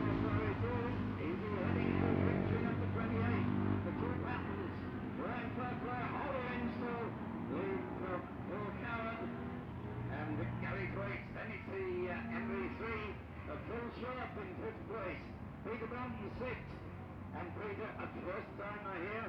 0.0s classic bikes including two Patons and an MV Agusta 19.2s

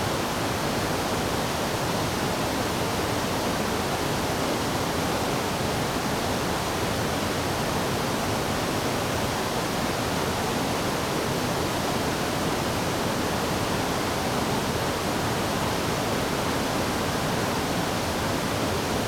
0.0s waterfall 19.0s

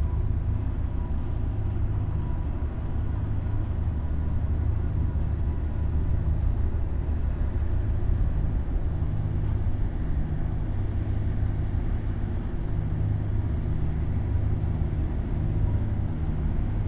0.0s ferry crossing the Seine river 16.8s

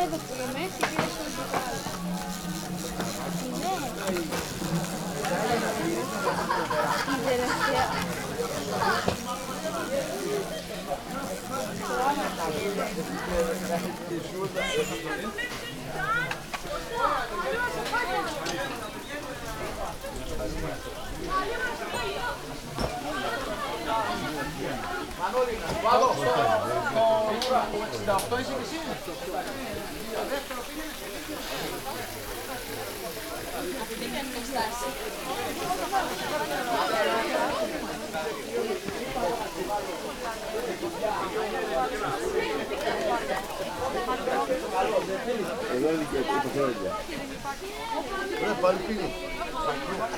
0.0s hikers resting 48.2s
0.0s kids playing 50.1s
0.0s hornet trapped in a plastic bottle 14.0s

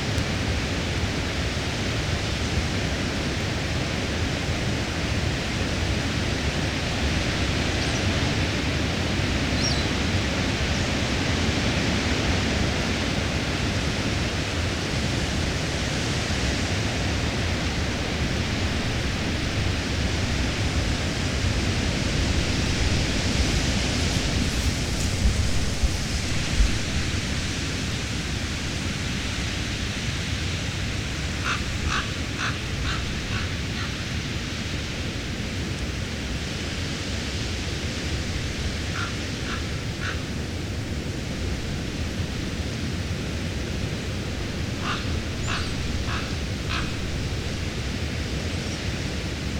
0.0s Blustery, treetop winds 49.5s
31.4s crows 34.1s
38.9s crows 40.3s
44.8s crows 47.1s

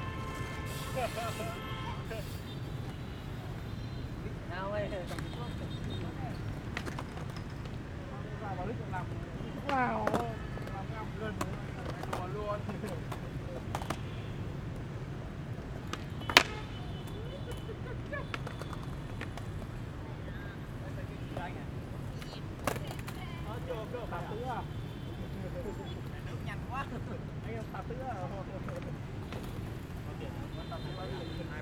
15.8s SKATER 19.8s

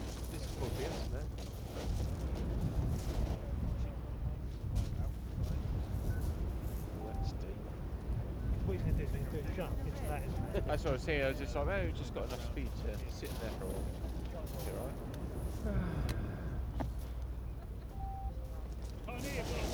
0.0s life boat engine is heard speeding towards the shore 19.7s

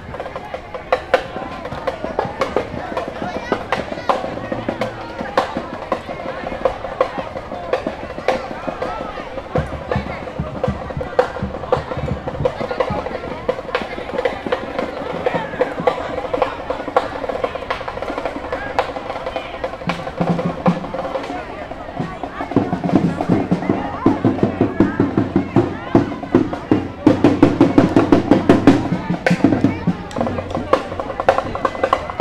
0.0s drums 32.2s

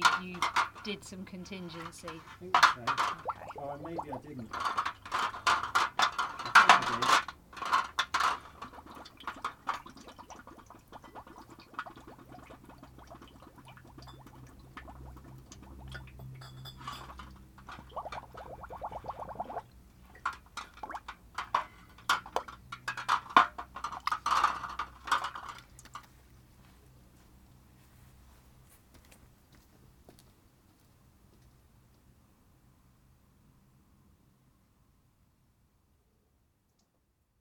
0.0s fiddle around with the fancy bottle-capping device 26.2s
2.6s bottling up a batch of beer 25.4s
7.7s filling up loads of glass bottles with sterilising solution 19.6s

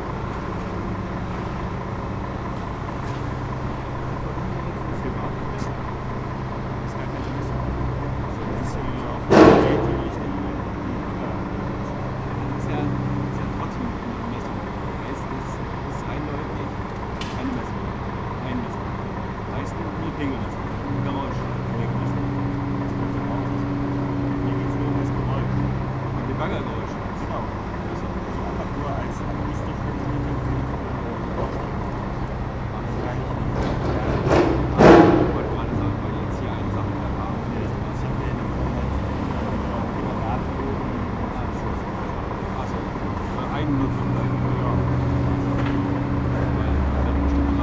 0.0s excavator loading a truck 47.6s
3.7s site engineer asked me 6.1s
6.8s site engineer asked me 16.8s
17.4s site engineer asked me 18.9s
19.5s site engineer asked me 31.8s
32.7s site engineer asked me 47.6s

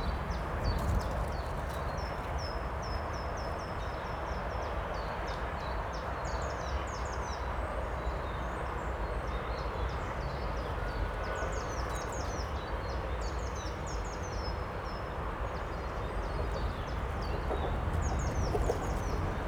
0.0s windy 2.5s
15.2s single train engine passes very close 19.4s
15.9s windy 19.4s
16.2s constant rushing aural background 19.4s

